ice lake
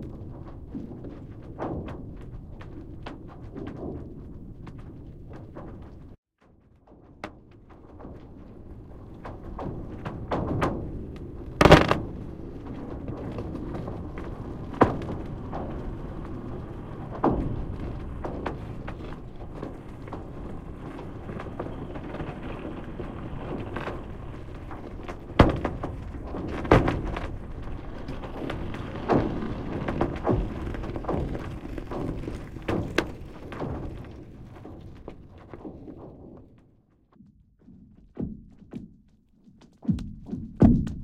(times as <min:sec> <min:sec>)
0:08.2 0:36.1